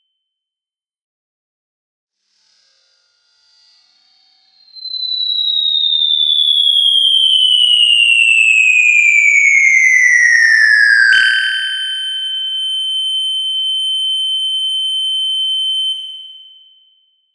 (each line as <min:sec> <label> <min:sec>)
0:04.6 high-pitched whistle sound that gradually decreases in pitch 0:16.3